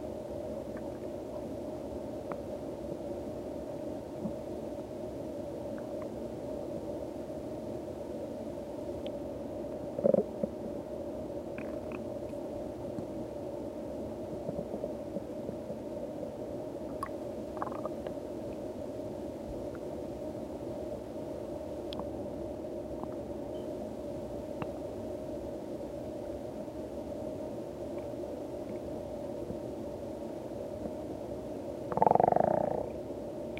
0.0s quiet gurgling/bubbling 33.5s

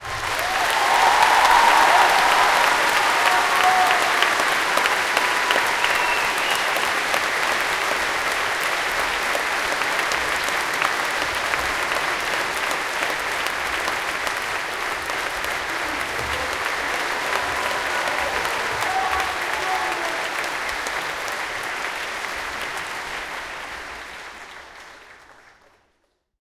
0.0s People claping 26.4s
0.4s screaming BRAVO 6.9s
17.2s screaming BRAVO 20.4s

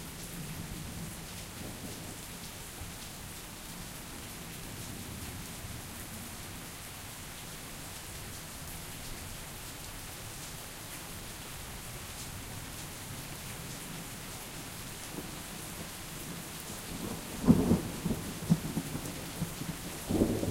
0.0s light rain 20.5s
17.0s Thunder 20.5s

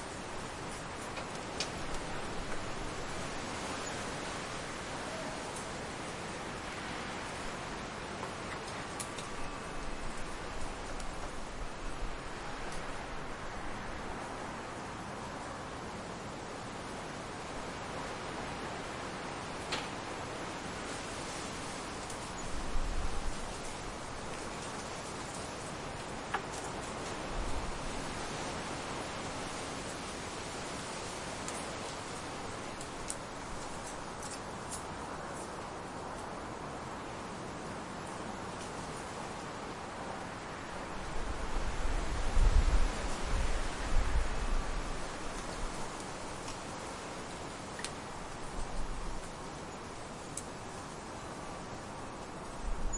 0.0s High Wind 52.9s

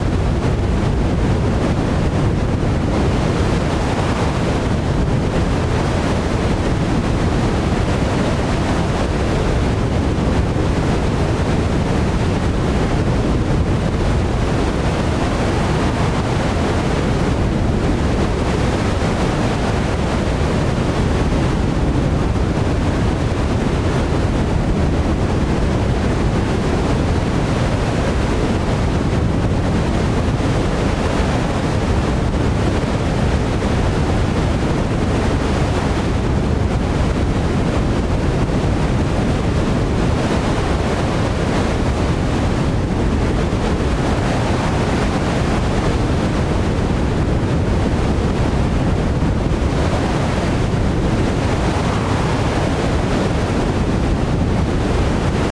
0.0s Forest wind sound 55.5s

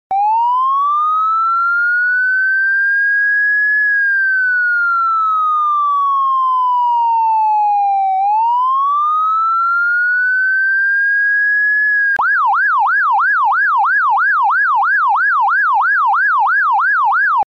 0.1s Police Siren 17.4s

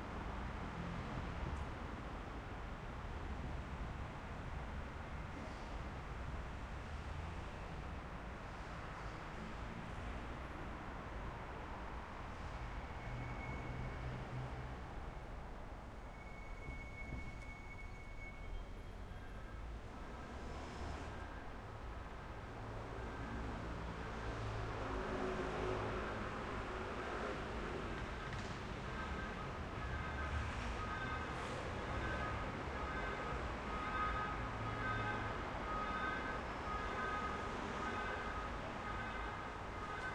0.0s Traffic 40.1s

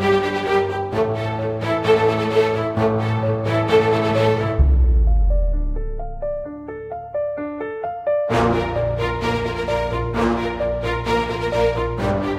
0.0s strings 6.7s
2.8s timpani 6.9s
8.3s strings 12.3s

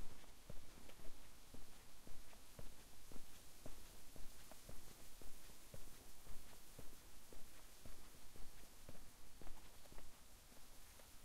0.0s Walking on tarmac road 11.2s

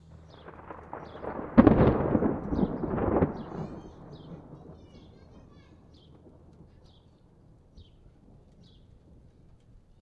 0.2s loud crack 4.8s

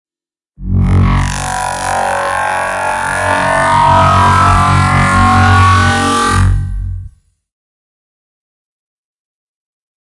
0.6s large laser powering up 7.1s

